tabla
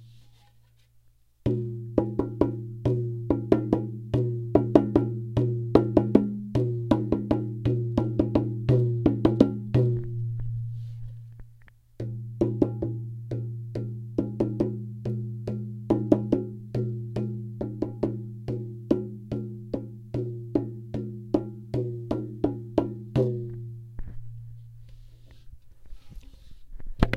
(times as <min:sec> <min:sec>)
0:01.5 0:10.8